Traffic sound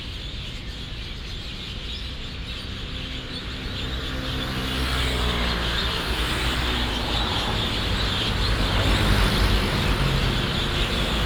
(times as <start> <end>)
2.6 11.2